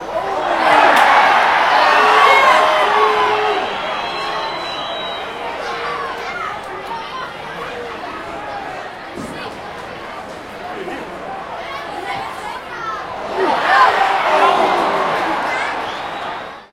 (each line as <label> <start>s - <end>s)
crowd 0.0s - 16.7s